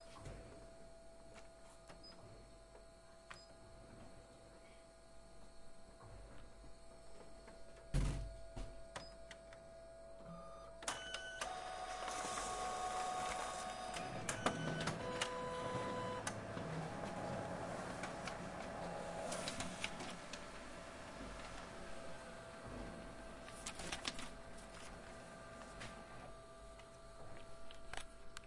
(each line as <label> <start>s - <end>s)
Photocopier 7.4s - 28.4s